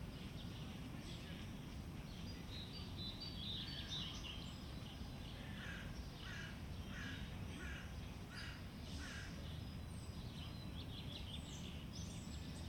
0.0s starlings 12.6s
5.5s crows 9.4s

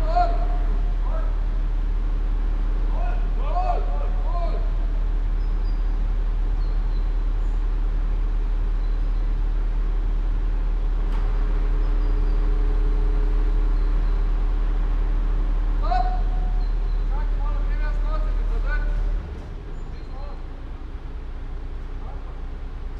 0.0s hydraulic lift 22.9s
15.7s workers - coordinating the action 20.5s

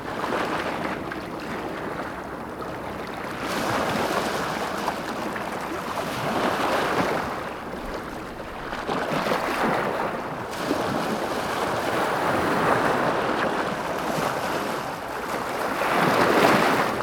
0.0s Gentle waves 17.0s

